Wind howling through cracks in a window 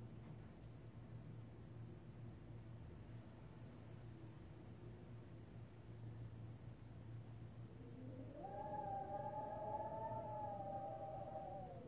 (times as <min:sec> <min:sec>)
0:03.2 0:11.8